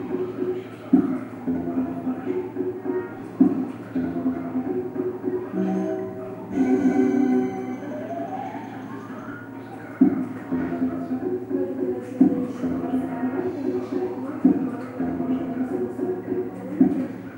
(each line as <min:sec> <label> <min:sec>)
0:05.5 slotmachine 0:09.8